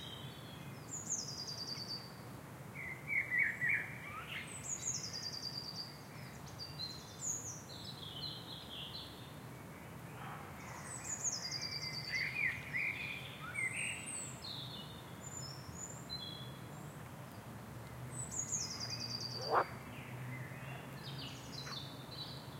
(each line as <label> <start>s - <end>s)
birds 9.9s - 22.5s
frogs 19.4s - 19.8s